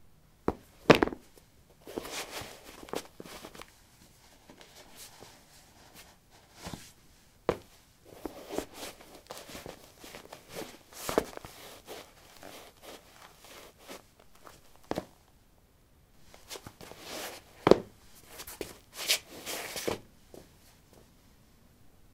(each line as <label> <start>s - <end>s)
Putting sport shoes on/off on linoleum 0.5s - 3.7s
Putting sport shoes on/off on linoleum 7.5s - 15.2s
Putting sport shoes on/off on linoleum 16.4s - 20.1s